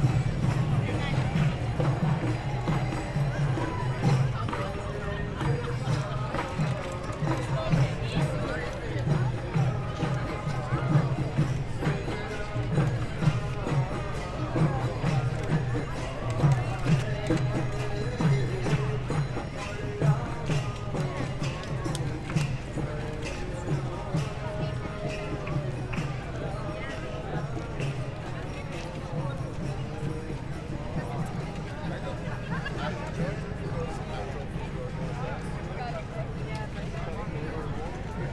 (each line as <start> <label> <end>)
0.0 Hare Krishna chant 38.3
0.0 drums and percussion 38.3